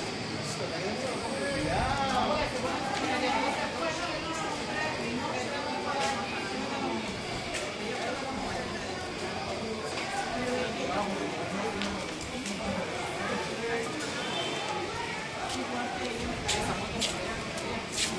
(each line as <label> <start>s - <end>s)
people 0.0s - 18.1s